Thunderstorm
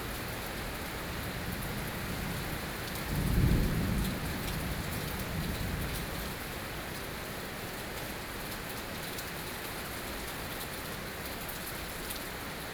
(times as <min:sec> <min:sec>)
0:01.2 0:06.4